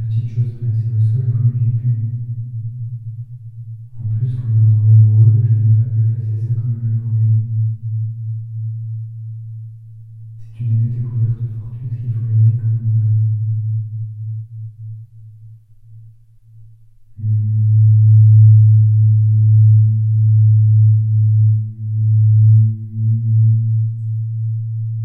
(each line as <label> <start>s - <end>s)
talking into the tunnel 0.0s - 2.3s
talking into the tunnel 4.0s - 7.5s
talking into the tunnel 10.4s - 13.3s